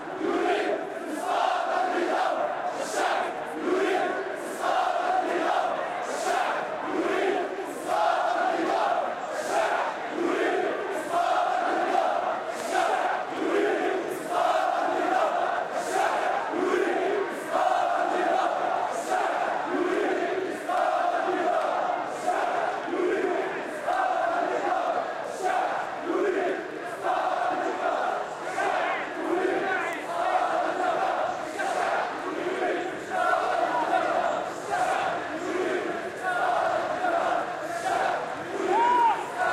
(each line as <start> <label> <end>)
0.0 crowd 39.5